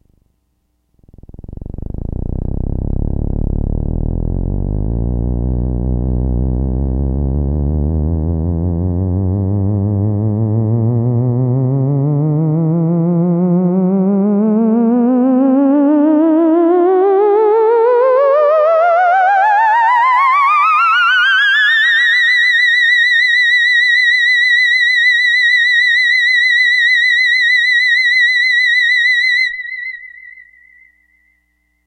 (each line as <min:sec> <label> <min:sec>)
0:01.0 theremin 0:31.3